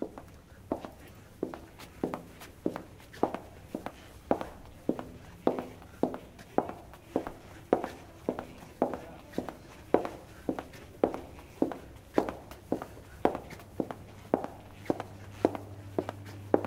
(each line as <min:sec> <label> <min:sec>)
0:00.0 Woman walkig in a concrete floor 0:16.6
0:00.0 her trousers 0:16.6